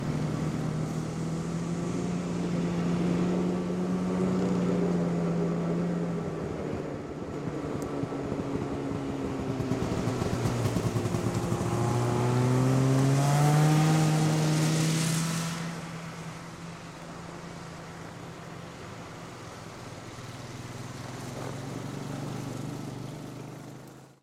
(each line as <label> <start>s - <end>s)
snowmobile pass slow medium speed 0.0s - 24.2s